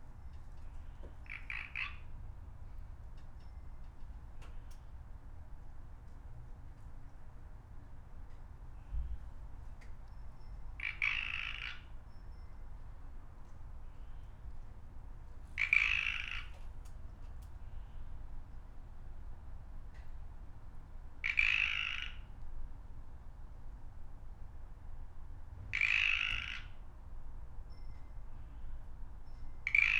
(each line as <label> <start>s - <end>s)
birds 0.1s - 5.0s
Pacific Chorus Frog Call 1.2s - 2.2s
birds 8.3s - 14.8s
Pacific Chorus Frog Call 10.8s - 12.1s
Pacific Chorus Frog Call 15.6s - 16.6s
birds 15.6s - 18.7s
Pacific Chorus Frog Call 21.2s - 22.3s
birds 21.2s - 22.3s
Pacific Chorus Frog Call 25.7s - 26.8s
birds 25.7s - 26.9s
birds 27.7s - 29.9s
Pacific Chorus Frog Call 29.6s - 29.9s